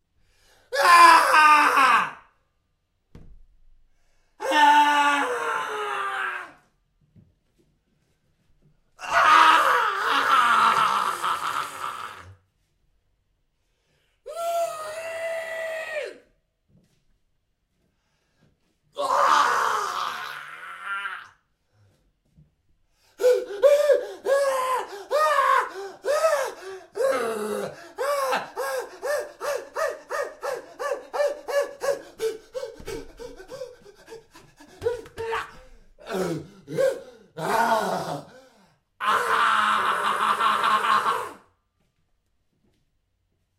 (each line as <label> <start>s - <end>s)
Male Screams 0.7s - 2.4s
Male Screams 4.4s - 6.7s
Male Screams 9.0s - 12.4s
Male Screams 14.3s - 16.3s
Male Screams 19.0s - 21.4s
Male Screams 23.2s - 41.5s